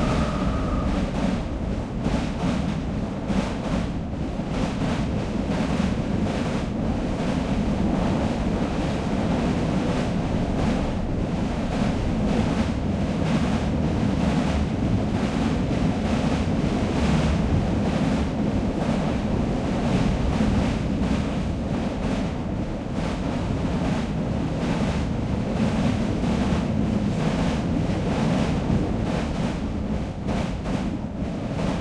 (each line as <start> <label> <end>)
0.0 Freight train going over small bridge 31.8